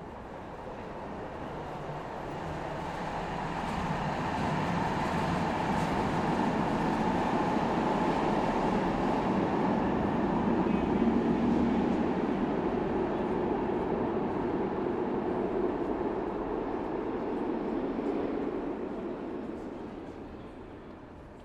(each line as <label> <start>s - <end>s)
trains passing through this underground railway station 0.0s - 21.4s